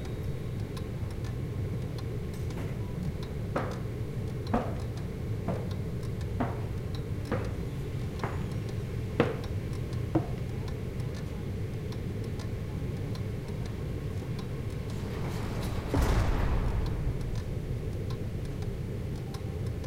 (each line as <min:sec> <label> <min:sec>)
0:00.0 hum 0:19.8
0:08.5 ticking clock 0:19.8